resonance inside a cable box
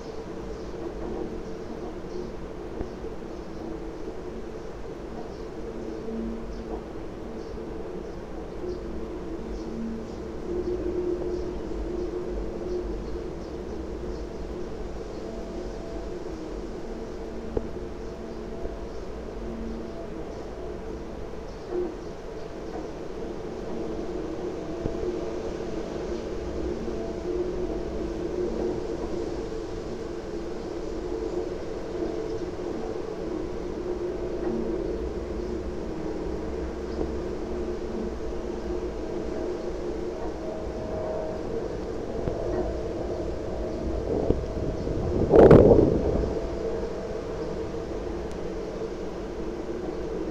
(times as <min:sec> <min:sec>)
0:30.6 0:50.3